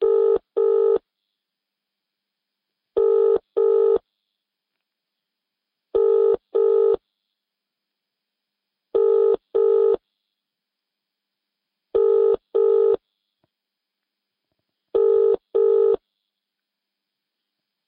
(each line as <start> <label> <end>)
15.0 phone tone 16.0